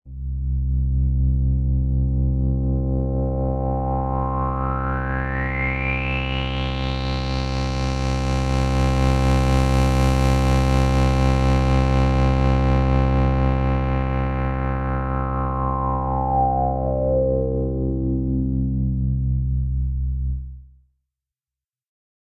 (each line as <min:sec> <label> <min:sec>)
0:00.1 drone sound 0:08.5
0:12.4 drone sound 0:20.8